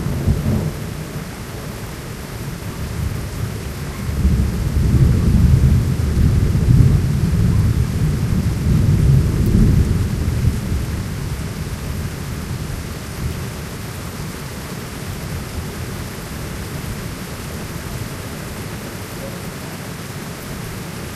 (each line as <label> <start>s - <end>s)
very loud thunderclaps 0.0s - 1.3s
heavy rain 0.0s - 21.1s
very loud thunderclaps 2.8s - 13.4s